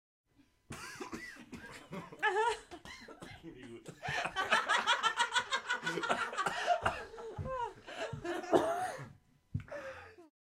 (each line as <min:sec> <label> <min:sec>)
0:01.7 group of people laughing 0:08.8